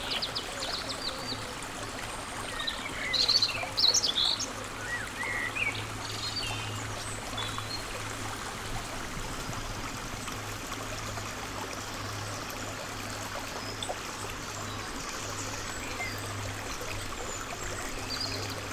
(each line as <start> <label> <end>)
0.0 river 18.7